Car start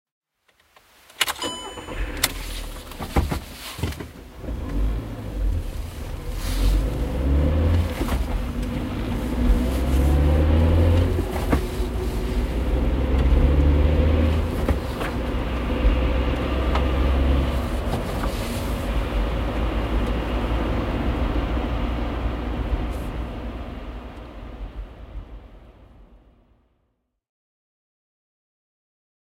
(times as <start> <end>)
1.2 24.6